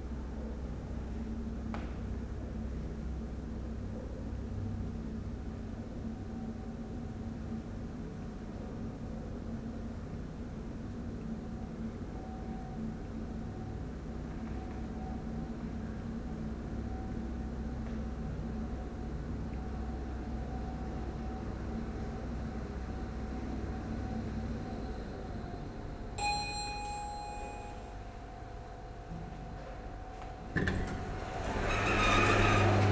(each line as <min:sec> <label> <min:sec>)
0:26.2 very old lifts 0:28.0